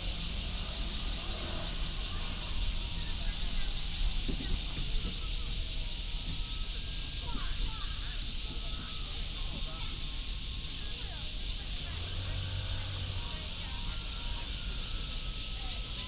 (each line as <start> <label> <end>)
0.0 Cicadas 16.0
0.0 traffic sound 16.0